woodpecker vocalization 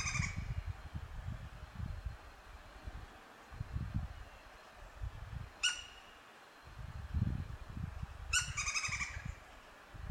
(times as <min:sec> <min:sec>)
0:05.6 0:06.2, 0:08.3 0:09.3